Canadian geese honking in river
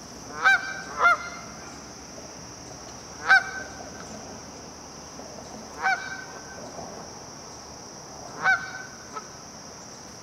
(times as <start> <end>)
0.3 1.6, 3.2 4.1, 5.8 6.6, 8.3 9.3